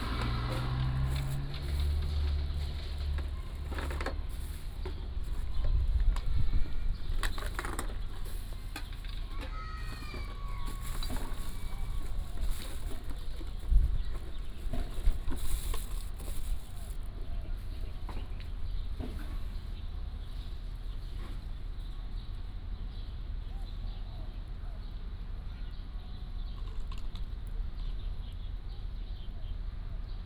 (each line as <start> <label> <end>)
0.0 Traffic Sound 29.9